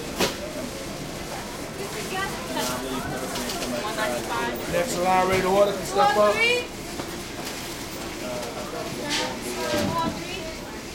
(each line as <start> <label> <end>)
0.0 busy american voices 10.9